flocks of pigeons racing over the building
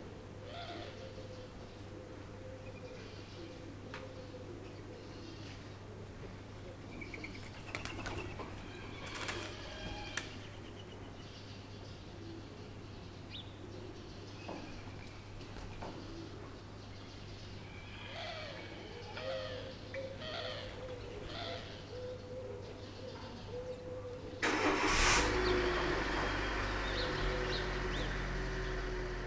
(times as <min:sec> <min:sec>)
0:07.2 0:10.5